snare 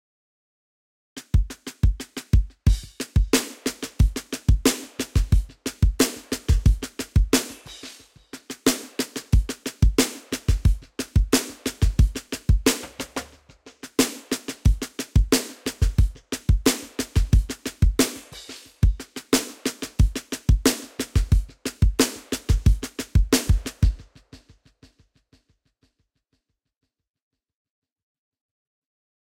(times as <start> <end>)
1.2 24.5